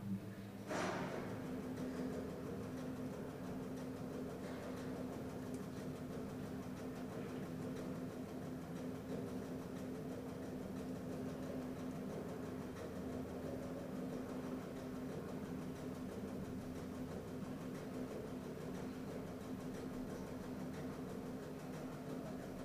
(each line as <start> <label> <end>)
0.0 Elevator 22.6